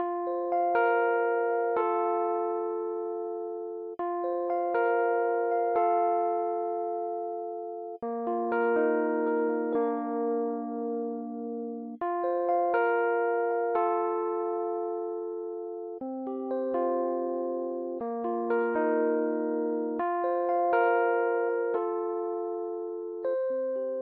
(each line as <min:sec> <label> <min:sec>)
0:00.0 Rhodes 0:24.0